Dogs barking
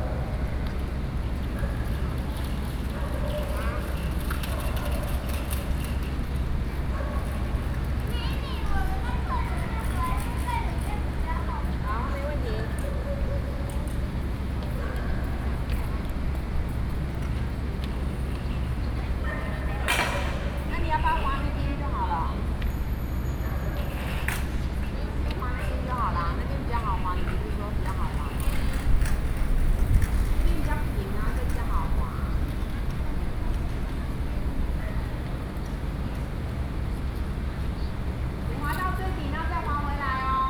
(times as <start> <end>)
6.9 7.4